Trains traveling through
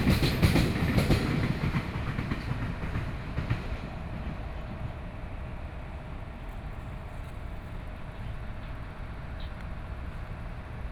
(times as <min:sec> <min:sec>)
0:00.0 0:07.0